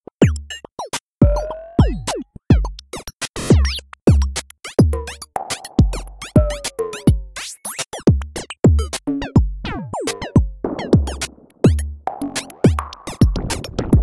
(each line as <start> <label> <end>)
9.9 synthesizer 14.0